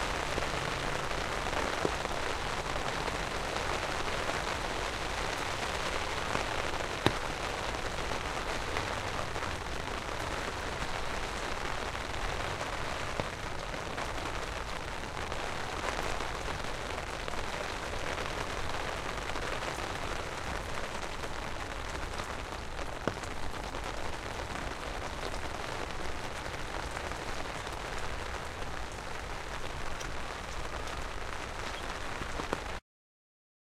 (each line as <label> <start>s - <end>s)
Rain falling onto umbrella 0.0s - 32.8s